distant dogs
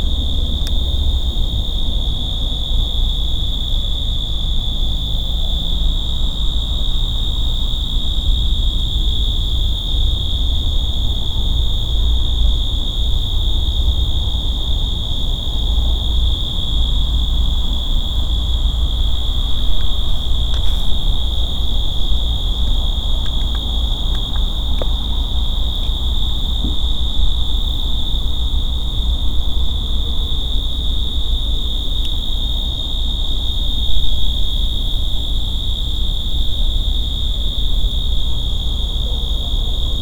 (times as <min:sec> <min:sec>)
0:38.6 0:40.0